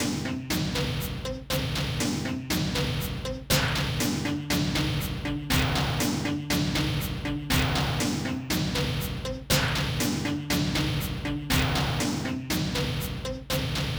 heavy drums 0:00.0 - 0:13.9

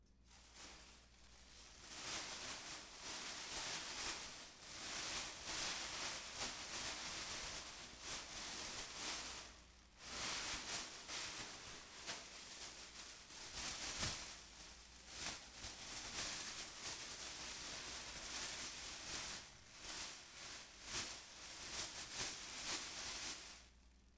plastic bag handling 0:00.3 - 0:23.6

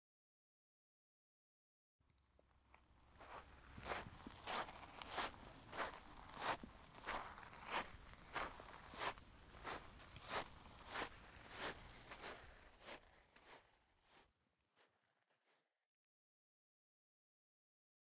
Walking on pebbles 0:02.4 - 0:15.0

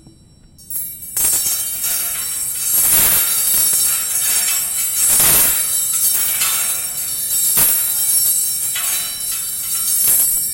Clanging of some metal coat hangers 0:00.6 - 0:10.5

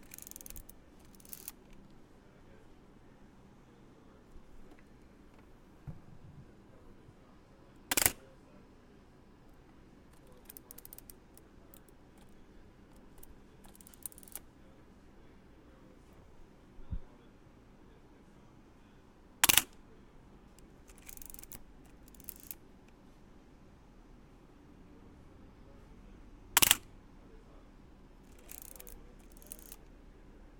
camera shutter 0:07.9 - 0:08.2
camera shutter 0:19.4 - 0:19.7
camera shutter 0:26.6 - 0:26.8

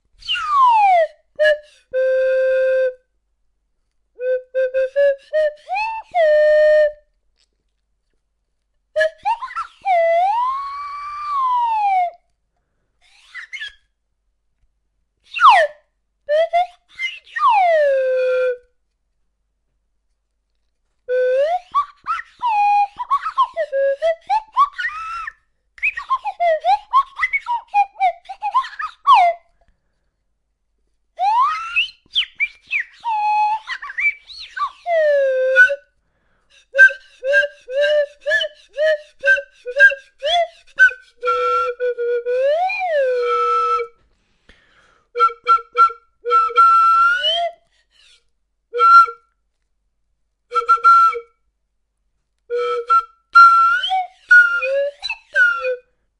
flute that you control with a stick while blowing in it 0:00.0 - 0:03.1
flute that you control with a stick while blowing in it 0:03.8 - 0:07.5
flute that you control with a stick while blowing in it 0:09.0 - 0:12.4
flute that you control with a stick while blowing in it 0:13.0 - 0:13.9
flute that you control with a stick while blowing in it 0:15.2 - 0:18.9
flute that you control with a stick while blowing in it 0:20.5 - 0:30.2
flute that you control with a stick while blowing in it 0:31.2 - 0:49.5
flute that you control with a stick while blowing in it 0:50.5 - 0:51.5
flute that you control with a stick while blowing in it 0:52.5 - 0:56.0

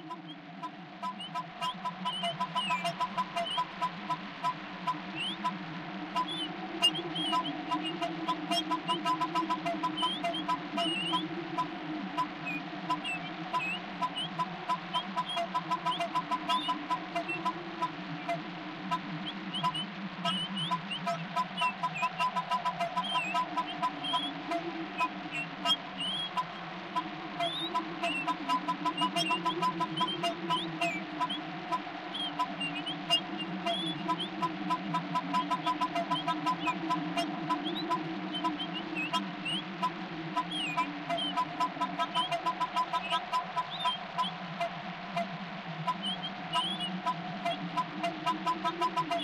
goose 0:00.0 - 0:49.2
wind 0:00.0 - 0:49.2

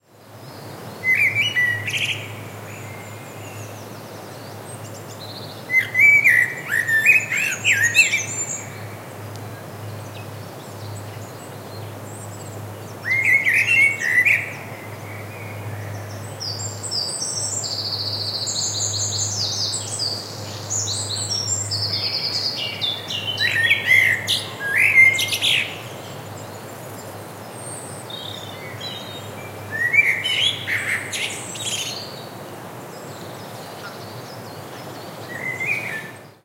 blackbird 0:01.0 - 0:08.9
blackbird 0:10.1 - 0:32.3
blackbird 0:32.9 - 0:36.4

